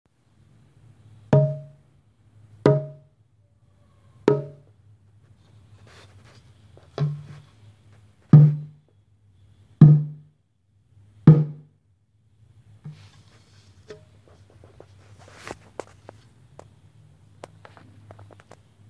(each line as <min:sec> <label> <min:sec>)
0:02.7 Golpe estómago y golpe 0:04.7